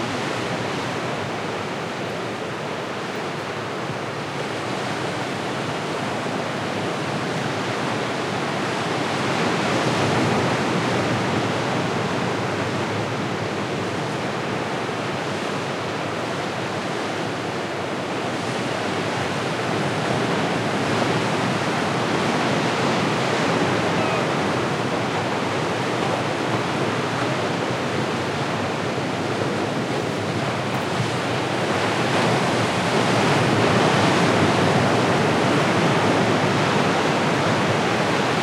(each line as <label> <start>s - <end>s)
Ocean waves 0.0s - 38.4s